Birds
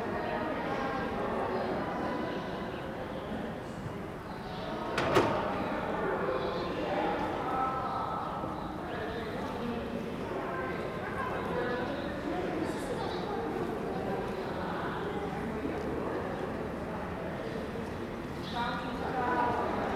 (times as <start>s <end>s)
4.2s 4.9s